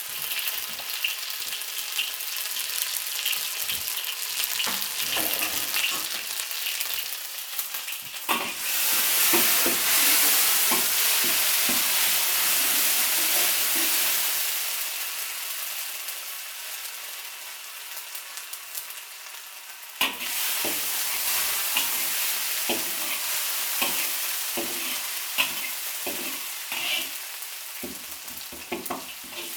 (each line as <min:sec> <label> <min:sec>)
0:00.0 hot oil and mashed vegetable ingreedients 0:29.5